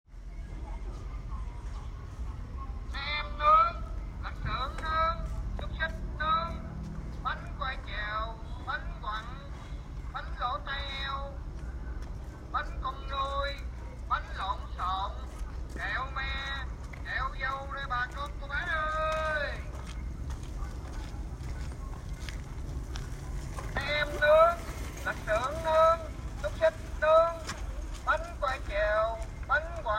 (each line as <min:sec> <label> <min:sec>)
0:12.5 Man sell food say 0:19.7
0:23.7 Man sell food say 0:29.9